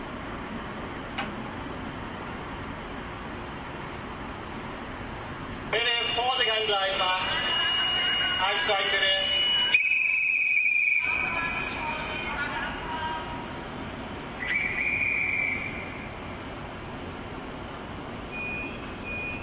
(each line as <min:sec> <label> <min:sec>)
0:05.6 announcements 0:13.6